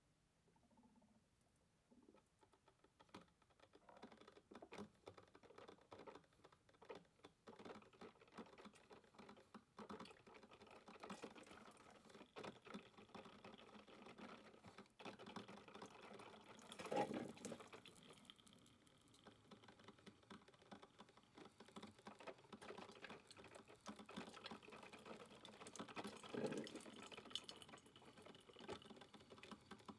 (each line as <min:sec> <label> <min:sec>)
0:09.6 coffee pot 0:29.9